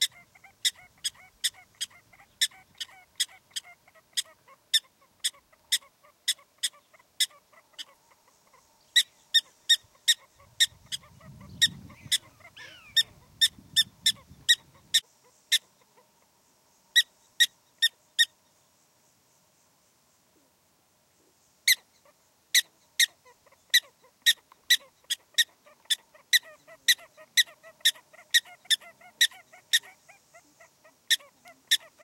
0.0s Prairie Dogs chirping 16.1s
21.7s Prairie Dogs chirping 32.0s

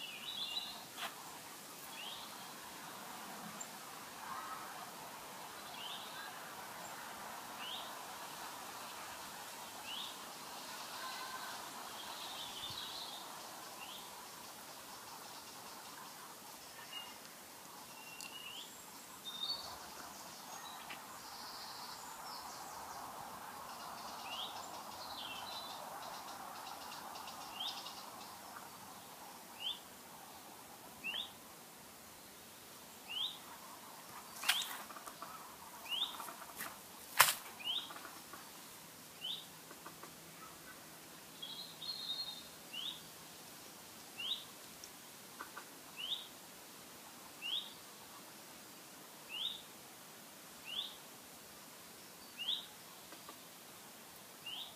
0.0s birds 43.2s
0.0s wind 54.7s
1.0s footsteps 1.2s
34.4s footsteps 34.9s
45.3s birds 46.4s
51.9s birds 54.7s

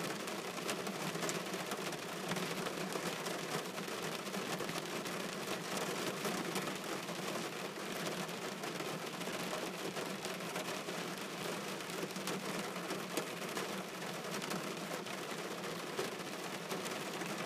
0.0s rain on a car roof 17.4s

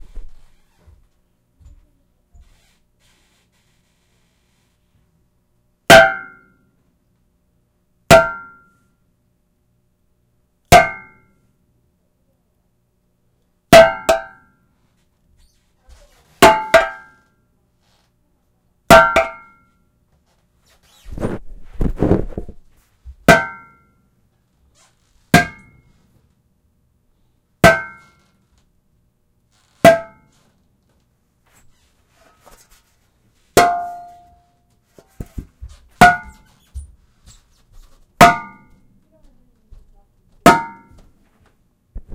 5.9s anvil 6.6s
8.1s anvil 8.8s
10.7s anvil 11.3s
13.8s anvil 14.6s
16.4s anvil 17.2s
18.9s anvil 19.7s
23.3s anvil 24.0s
25.3s anvil 25.9s
27.6s anvil 28.2s
29.8s anvil 30.3s
33.6s anvil 34.4s
36.0s anvil 36.4s
38.2s anvil 38.9s
40.5s anvil 41.0s

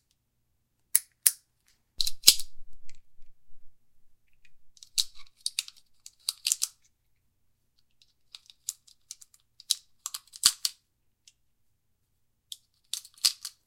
2.0s handgun handling sounds 2.6s
4.8s handgun handling sounds 6.9s
12.5s Holster sounds, drawing, and holstering 13.6s
12.5s handgun handling sounds 13.6s

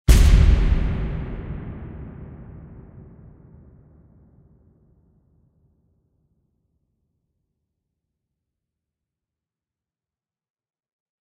0.1s full bodied explosive boom with a long tail out reverb 5.0s

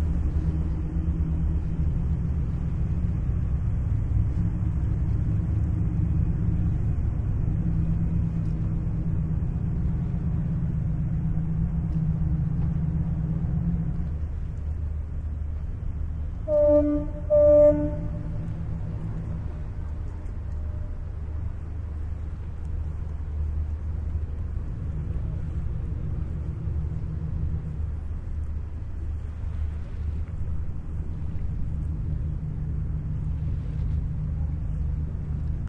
0.0s boat moving away 35.6s

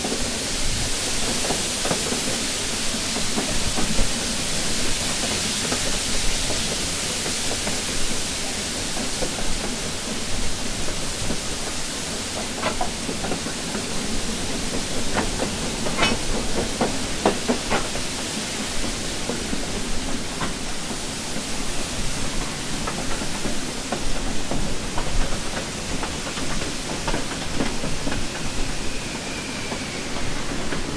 0.0s Slow Moving Steam Train 30.9s

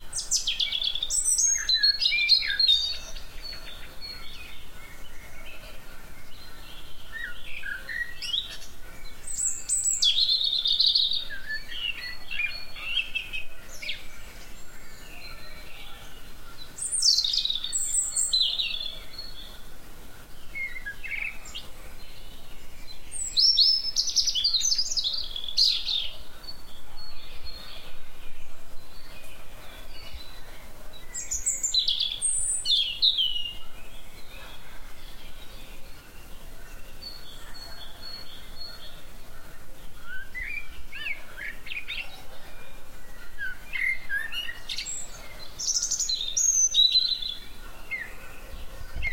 0.0s Birds chirping 49.1s

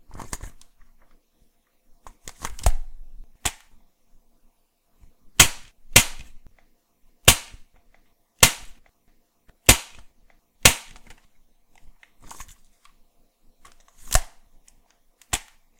5.4s toy gun being fired 6.3s
7.3s toy gun being fired 7.6s
8.4s toy gun being fired 8.8s
9.7s toy gun being fired 10.0s
10.6s toy gun being fired 11.0s

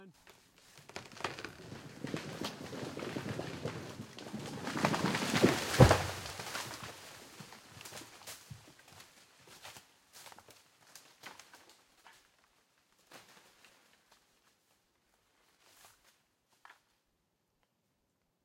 0.2s tree-falling-down-in-forrest 17.0s
0.2s cracking wood 9.1s

